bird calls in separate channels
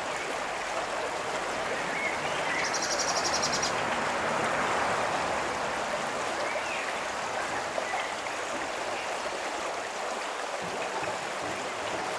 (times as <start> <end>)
2.0 3.8